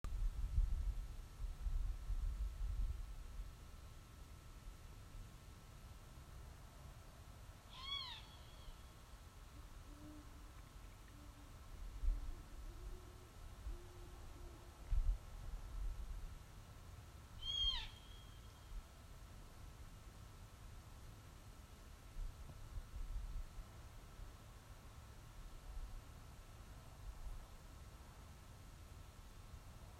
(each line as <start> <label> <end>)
7.7 barn owl 8.9
9.5 Great horn owl 15.0
17.4 barn owl 18.6